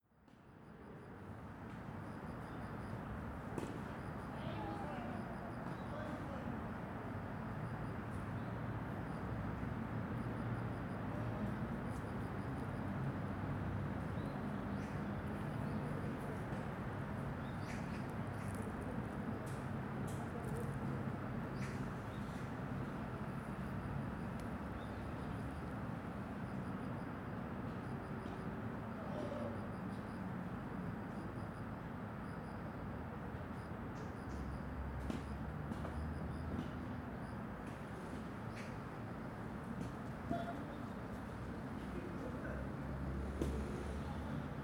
0.3s Cricket 44.6s
3.2s People Playing Tennis 6.6s
34.3s People Playing Tennis 36.8s
37.6s People Playing Tennis 44.2s

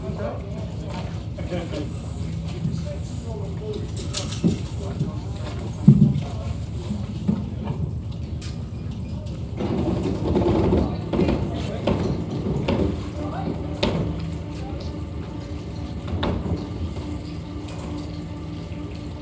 0.0s Sailing boat hoist lifting boats 19.2s

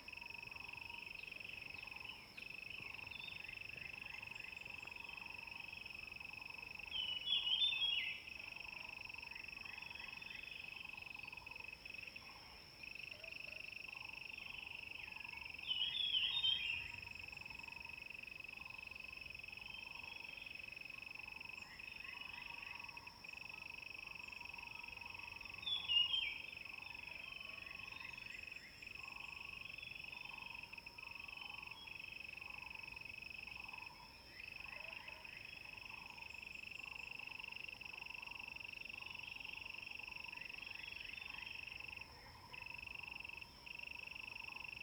0.0s Insects sounds 44.8s

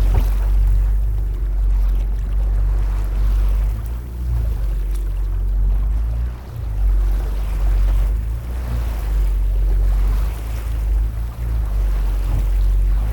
0.0s wooden boat strugling with wind 13.1s

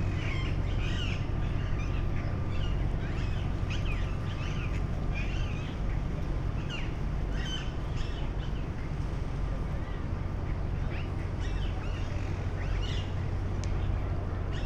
6.7s parakeets (Psittacula krameri) in the trees 8.2s
11.4s parakeets (Psittacula krameri) in the trees 13.1s

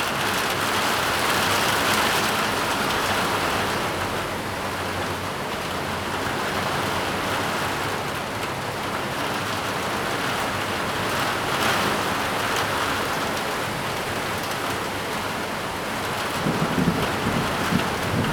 0.0s Heavy rain 18.3s
16.1s Thunderstorms 18.3s

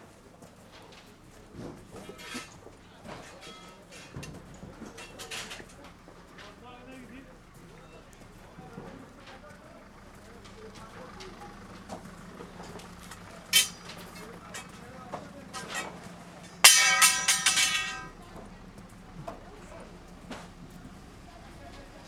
0.6s marketeers dismantle their market stalls 22.0s

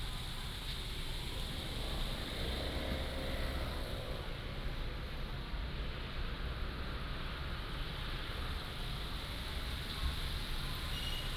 0.0s Traffic sound 11.3s

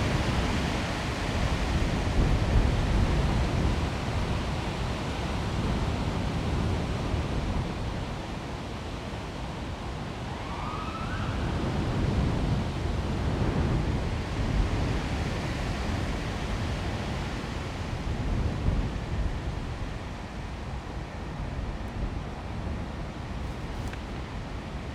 16.0s Planes were still flying over 24.9s

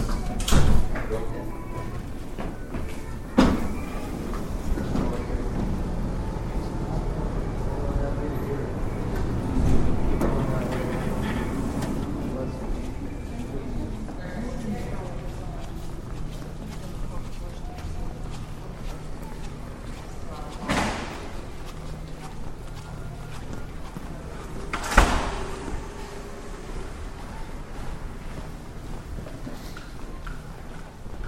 3.3s elevator 12.6s
22.6s elevator 31.2s

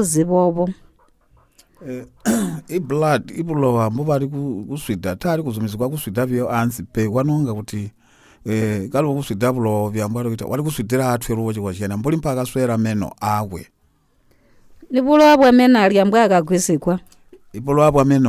1.8s interview 13.7s

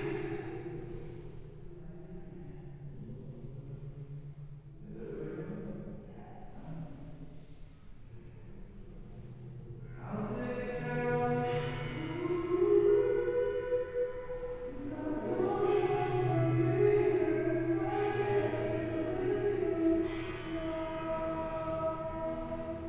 10.0s singer performs a few steps below 22.8s

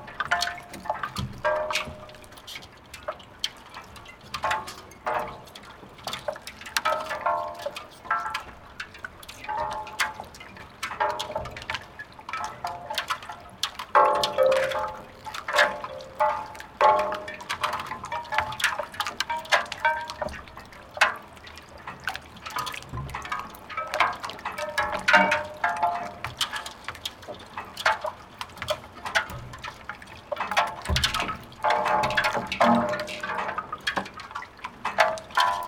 0.0s boats, twisting each others 35.6s

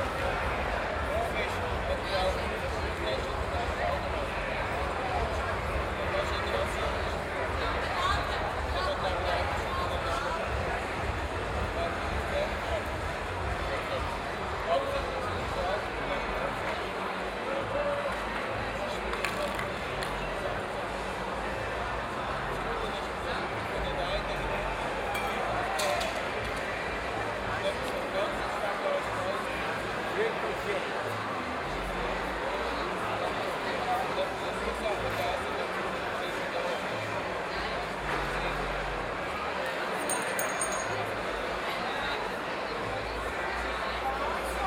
0.0s streets of Aarau are full of people 44.6s

